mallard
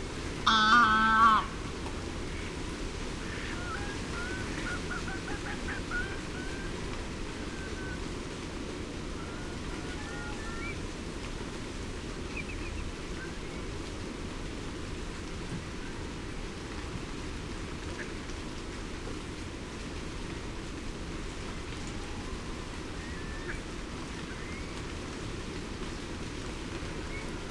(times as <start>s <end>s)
0.5s 1.6s, 3.2s 6.8s